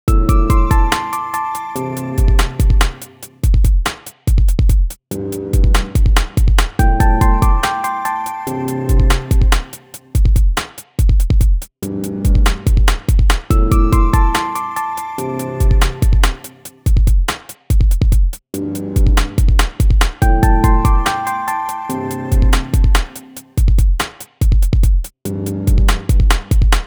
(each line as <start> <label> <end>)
0.0 drums 26.8
0.1 bassline 3.4
5.1 bassline 9.8
11.8 bassline 16.5
18.6 bassline 23.2
25.3 bassline 26.6